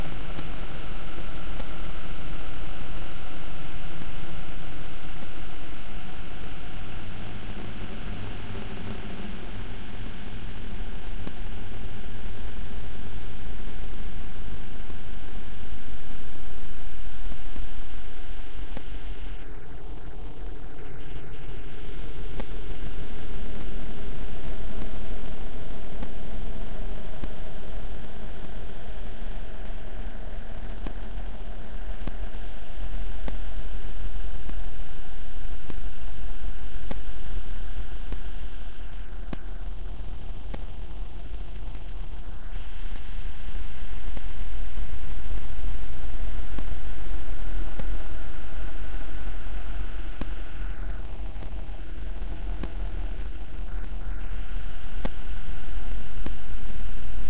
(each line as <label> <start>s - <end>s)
glitch 5.2s - 12.8s
glitch 35.7s - 57.2s